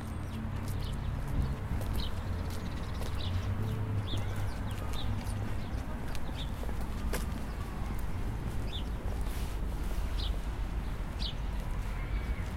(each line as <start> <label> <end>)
0.1 walk 12.5